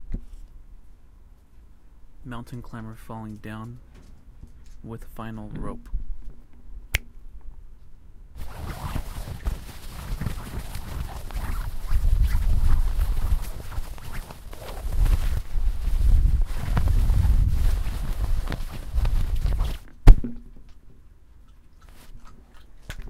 wind 0:00.0 - 0:23.0
Skydiver Opening Parachute 0:08.4 - 0:19.9

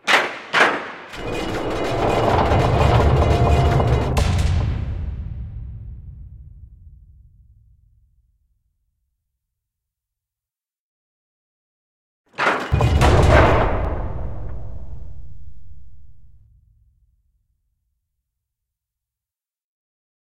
Sliding metal gate 0:00.6 - 0:04.7
Sliding metal gate 0:12.4 - 0:14.0

